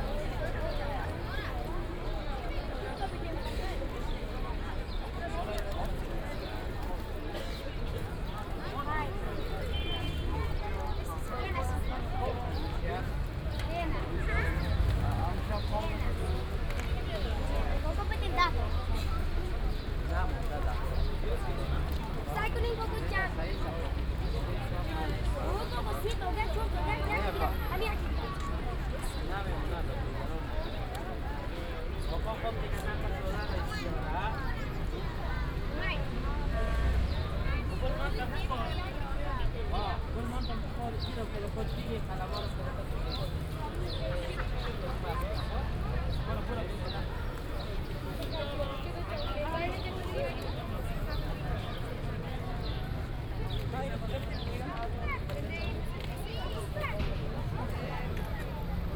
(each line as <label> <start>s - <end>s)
kids are sitting around drawing pictures on paper 8.2s - 31.3s